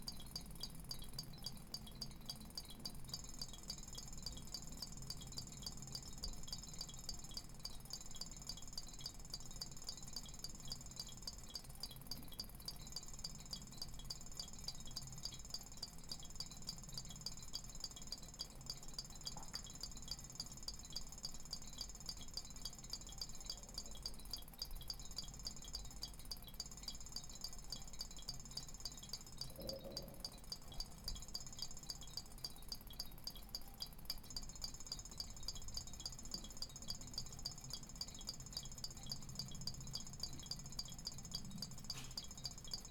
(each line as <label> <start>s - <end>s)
air bubbles making bell like sounds 29.3s - 31.2s